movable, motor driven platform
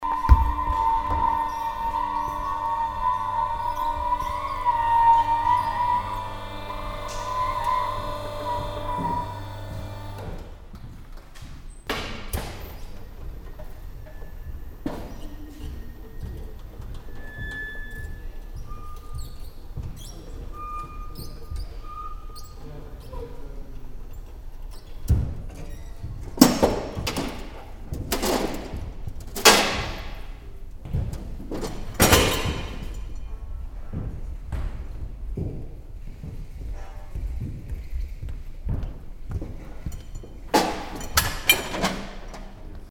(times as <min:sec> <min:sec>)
0:00.4 0:10.5